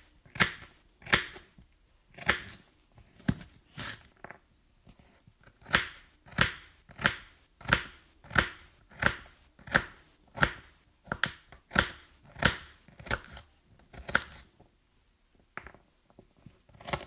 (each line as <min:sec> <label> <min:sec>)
0:00.0 Cutting carrots 0:04.2
0:05.0 Cutting carrots 0:14.6
0:16.6 Cutting carrots 0:17.0